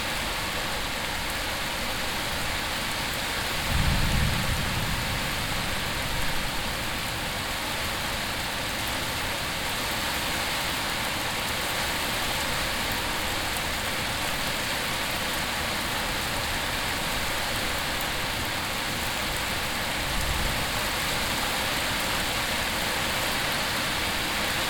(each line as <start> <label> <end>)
0.0 clashing rain 24.6
3.7 thunder echoing in the valley 6.6